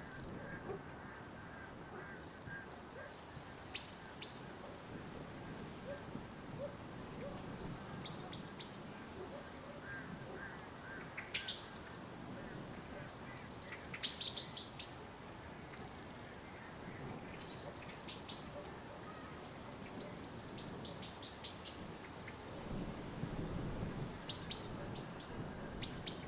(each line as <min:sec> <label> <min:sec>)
0:00.0 Birds 0:22.8
0:23.7 Birds 0:26.2